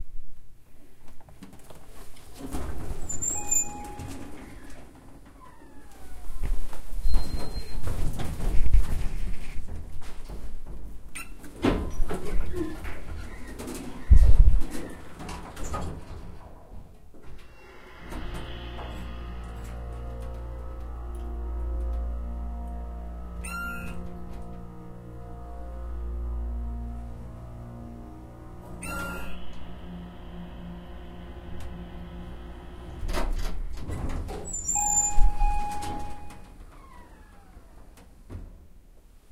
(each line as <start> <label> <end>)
1.9 Noisy old elevator going up 38.9
2.8 tired old dings indicating floors 4.8
34.3 tired old dings indicating floors 37.1